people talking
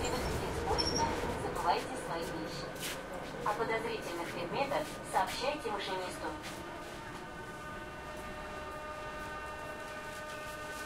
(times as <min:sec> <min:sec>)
0:00.0 0:02.7, 0:03.5 0:06.4